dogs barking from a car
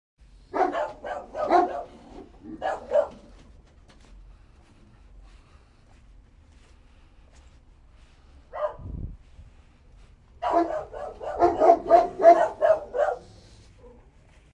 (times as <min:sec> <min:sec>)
0:00.5 0:03.5, 0:08.5 0:09.0, 0:10.4 0:14.1